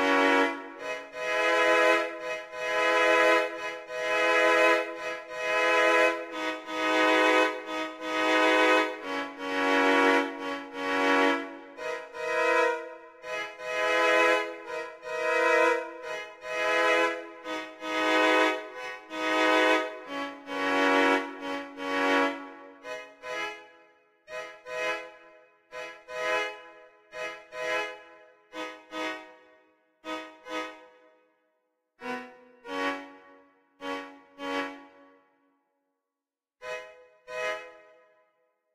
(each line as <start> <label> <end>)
0.0 Cello Song 23.7
32.0 Cello Song 35.2